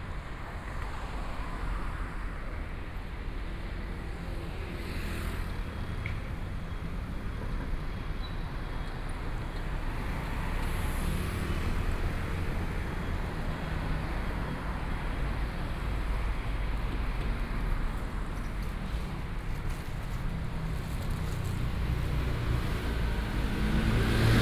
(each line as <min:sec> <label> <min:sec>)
0:00.0 Traffic Sound 0:24.4
0:09.2 walking on the road 0:24.4